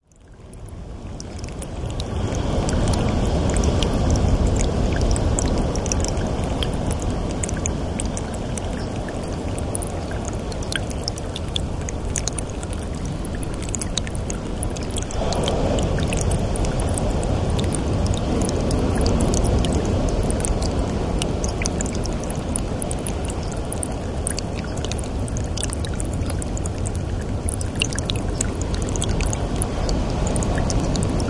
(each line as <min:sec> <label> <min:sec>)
0:00.0 stream trickles down the hill 0:31.2
0:00.9 Waves crashing on the beaches and rocks 0:31.2